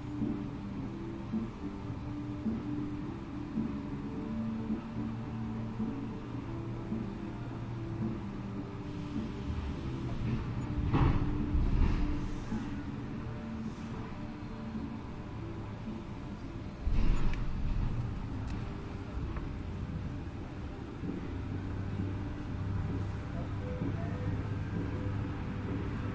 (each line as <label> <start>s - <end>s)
car 0.0s - 26.1s
music from the truck parking next to our 0.0s - 26.1s
passing by truck 0.0s - 26.1s
banging from the loading ramp 9.5s - 12.8s
hiss 11.9s - 12.8s